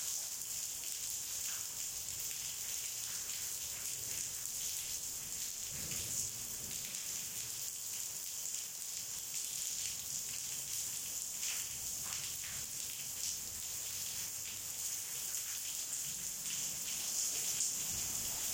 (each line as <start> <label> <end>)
0.0 rain 18.5
5.7 thunder 6.2